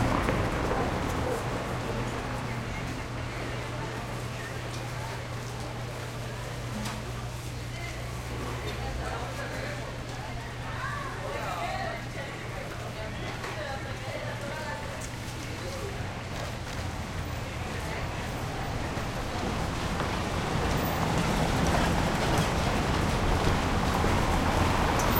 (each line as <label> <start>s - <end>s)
traffic light slow cobblestone intersection 0.0s - 11.4s
traffic light slow cobblestone intersection 12.0s - 25.1s